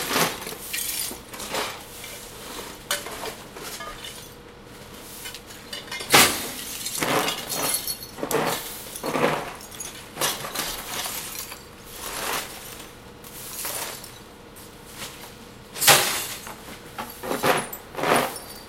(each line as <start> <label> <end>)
0.0 dump truck compressing/destroying bulk trash 18.6